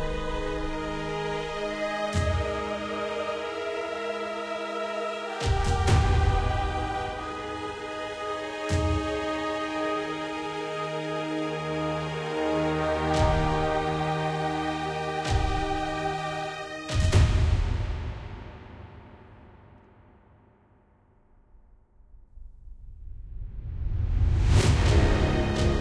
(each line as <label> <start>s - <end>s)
Brass 0.0s - 19.0s
Orchestra 0.0s - 19.6s
Orchestra 24.2s - 25.8s
Brass 24.6s - 25.8s